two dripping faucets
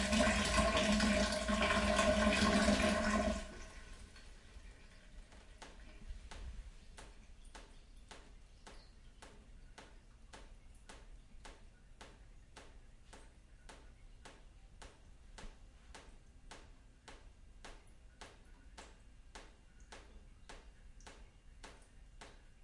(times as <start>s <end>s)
5.3s 22.6s